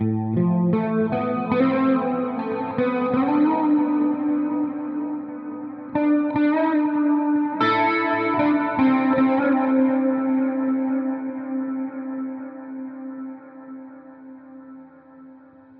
Smooth Guitar sequence 0.0 - 15.7

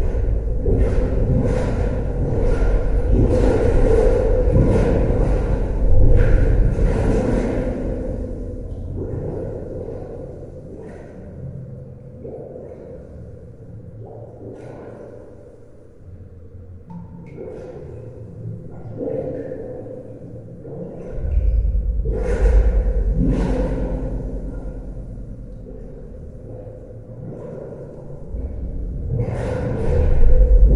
Water Running Underground 0.0 - 11.2

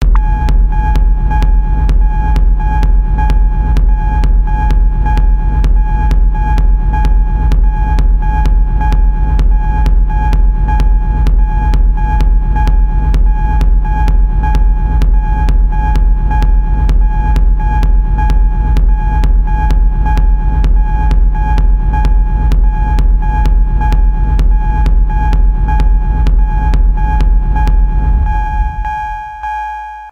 techno music 0.0 - 29.6

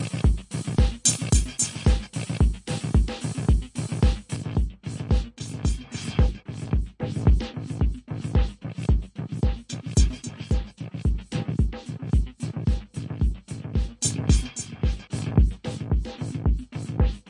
rhythmic loop running through the Trance Gate 0.0 - 17.2

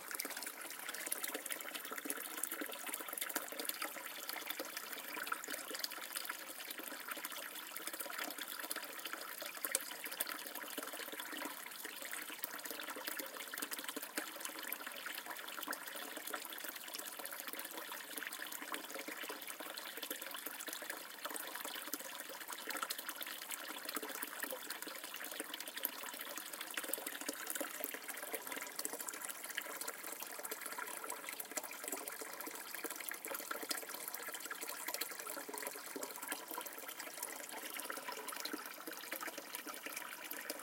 Water fountain 0.0 - 40.6

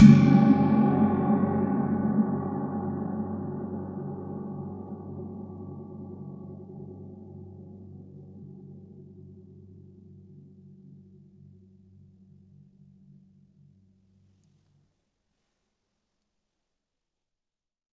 Gong Cymbal 0.0 - 7.8

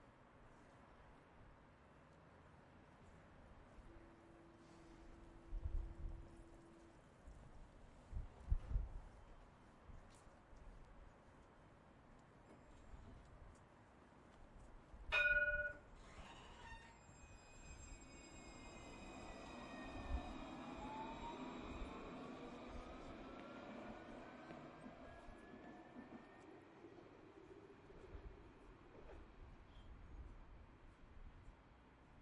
Bell 15.1 - 15.9
Tram Arriving and Departing 15.1 - 29.4

